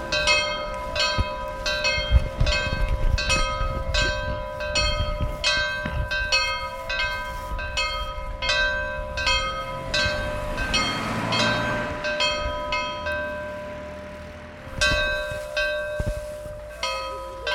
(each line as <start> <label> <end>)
0.0 people shuffling 10.5
0.0 The Bells of St. Peters Church 17.5
0.0 passing cars 17.5
12.4 people shuffling 17.5